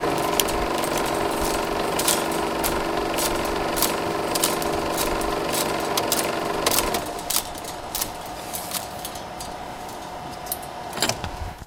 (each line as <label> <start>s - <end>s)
Rewind and turning off 16mm projector 0.0s - 10.3s